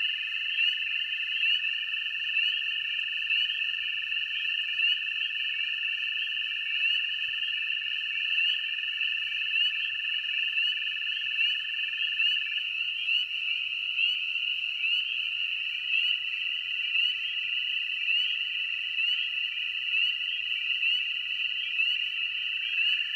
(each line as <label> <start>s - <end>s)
Frogs 0.0s - 23.1s